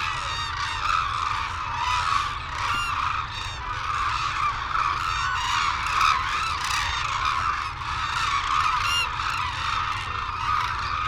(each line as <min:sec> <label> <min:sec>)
0:00.0 calls and flight calls from white naped cranes and hooded cranes 0:11.0
0:00.0 windy 0:11.0